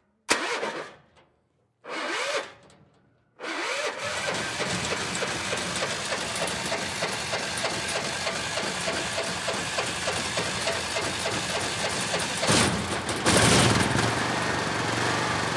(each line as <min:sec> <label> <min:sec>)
0:00.3 false start 0:01.2
0:01.9 false start 0:02.8
0:03.4 false start 0:15.5
0:03.6 water pump motor 0:15.5